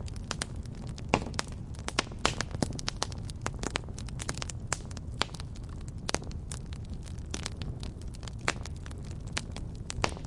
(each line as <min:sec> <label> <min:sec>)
0:00.0 campfire 0:10.2